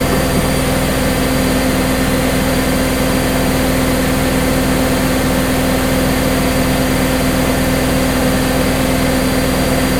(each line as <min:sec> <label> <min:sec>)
0:00.0 washing machine running 0:09.9